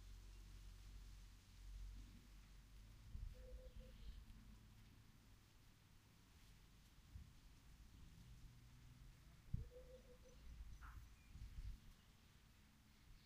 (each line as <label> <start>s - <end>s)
birds 2.3s - 5.0s
birds 9.5s - 13.2s